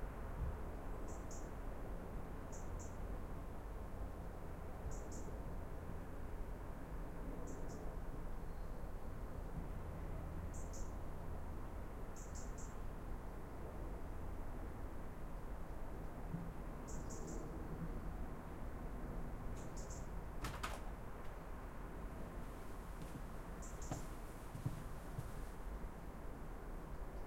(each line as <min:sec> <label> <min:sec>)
0:00.0 wind 0:27.2
0:23.1 birds 0:25.4